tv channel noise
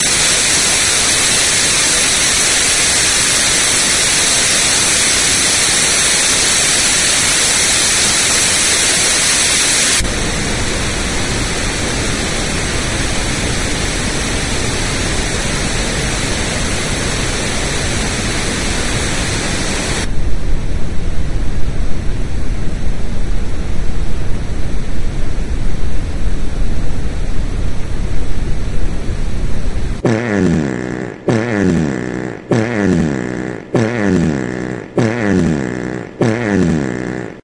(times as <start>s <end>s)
0.0s 10.0s